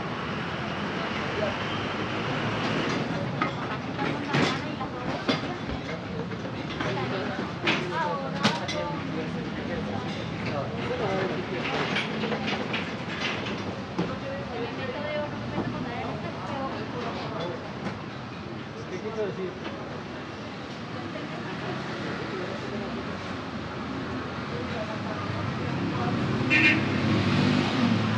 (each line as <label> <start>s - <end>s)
Traffic of cars and buses accelerating 0.0s - 28.1s
truck engines 0.0s - 28.1s
people's voices 0.6s - 28.1s
people unloading objects 2.6s - 14.4s
horns 26.5s - 27.0s